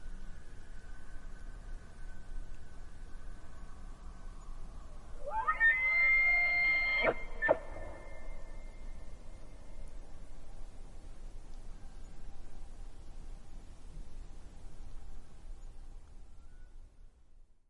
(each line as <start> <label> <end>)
5.2 elks 8.2